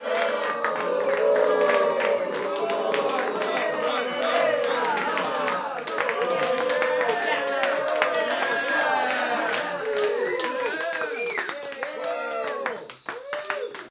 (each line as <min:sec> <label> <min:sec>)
0:00.0 Small audience cheering 0:13.9
0:00.0 clapping 0:13.9